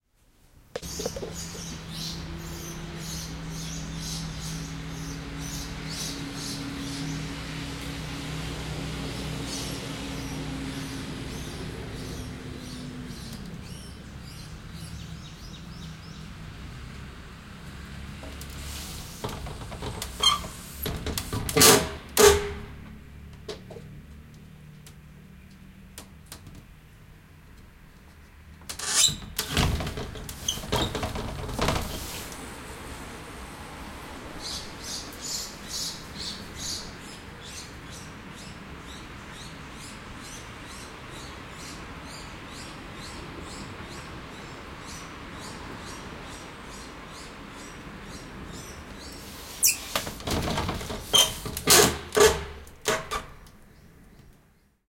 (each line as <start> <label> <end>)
0.8 birds 7.5
0.8 Opening and closing a window 14.5
0.8 cars passing 25.9
17.6 Opening and closing a window 23.9
28.6 Opening and closing a window 37.6
32.0 cars passing 49.6
34.4 birds 51.6
48.6 Opening and closing a window 53.7